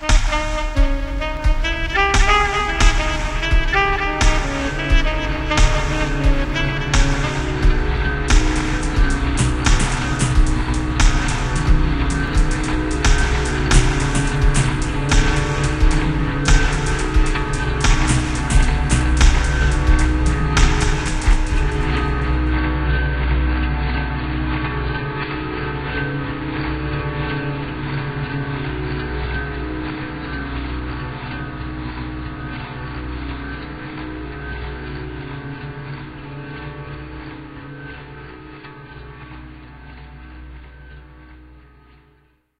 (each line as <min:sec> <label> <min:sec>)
0:00.0 saxophone 0:41.6
0:00.0 guitar 0:42.1